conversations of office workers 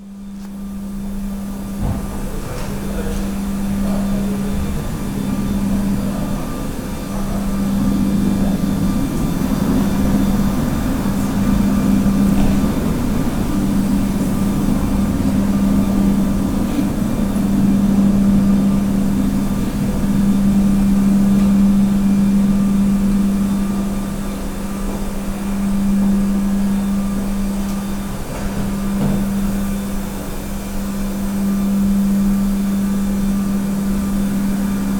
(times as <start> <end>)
1.0 25.9